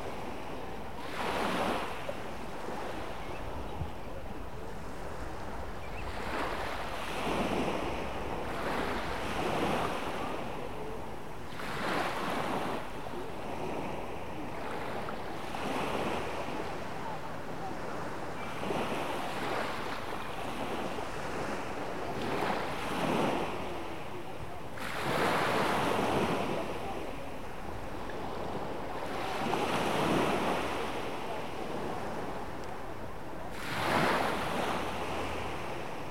Evening waves on the beach 0.0 - 36.1
voices 16.3 - 34.1

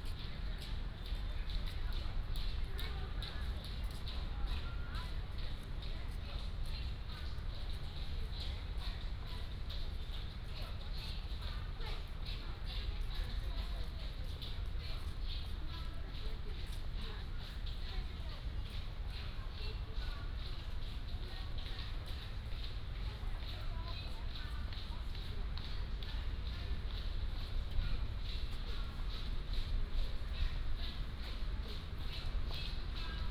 Many old people gathered 0.0 - 33.3

